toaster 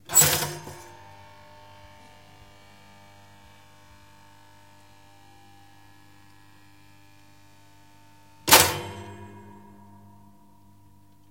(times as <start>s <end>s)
0.0s 1.0s, 8.4s 10.3s